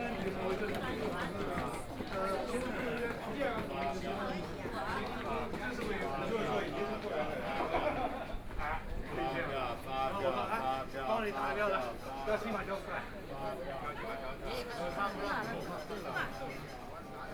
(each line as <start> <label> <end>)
0.0 The crowd 17.3